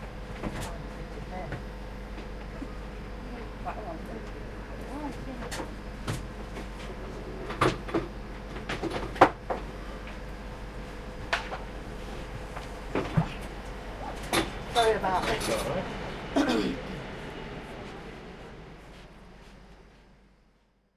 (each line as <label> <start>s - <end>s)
boarding train 0.0s - 20.9s